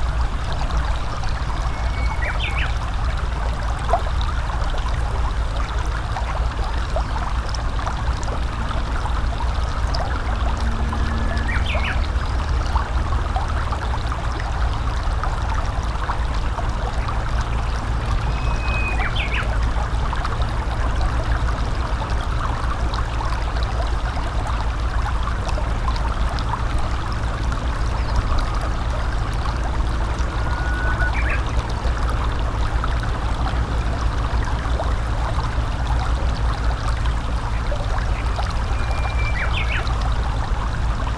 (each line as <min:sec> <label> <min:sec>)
0:00.0 small rapids 0:41.1
0:01.2 Japanese bush warbler 0:02.8
0:11.1 Japanese bush warbler 0:12.7
0:18.1 Japanese bush warbler 0:19.6
0:30.3 Japanese bush warbler 0:31.6
0:38.8 Japanese bush warbler 0:40.0